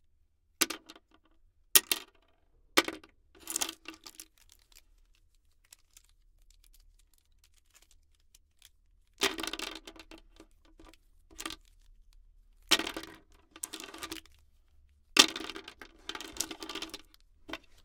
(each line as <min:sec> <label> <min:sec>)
0:12.7 pencils fall on the table 0:14.2
0:15.2 pencils fall on the table 0:17.7